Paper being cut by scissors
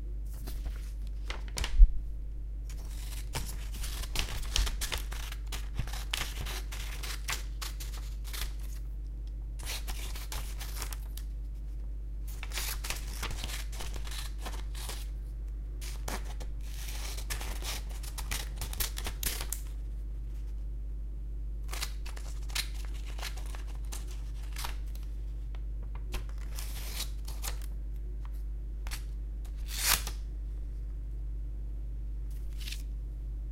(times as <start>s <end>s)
2.7s 8.8s, 9.6s 11.0s, 12.3s 15.1s, 28.9s 30.2s